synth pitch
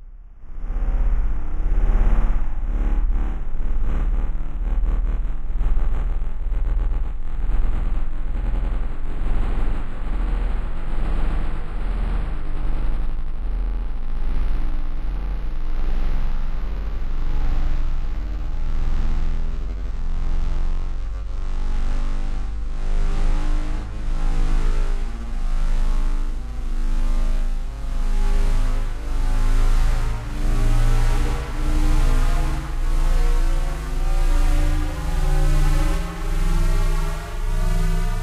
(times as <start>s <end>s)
26.3s 38.2s